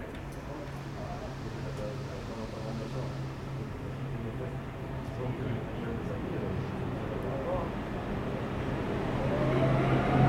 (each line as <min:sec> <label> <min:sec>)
0:00.0 arrivée du TER 0:10.2